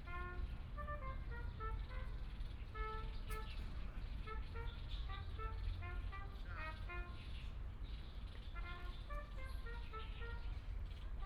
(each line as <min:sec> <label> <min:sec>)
0:00.0 trumpet 0:03.6
0:04.2 trumpet 0:07.2
0:08.6 trumpet 0:10.6